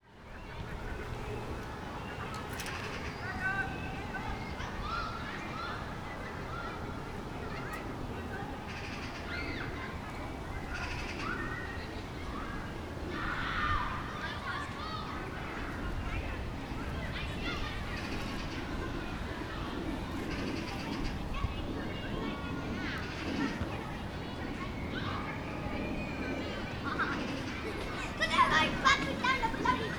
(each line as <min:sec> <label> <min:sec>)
0:00.0 wind 0:29.9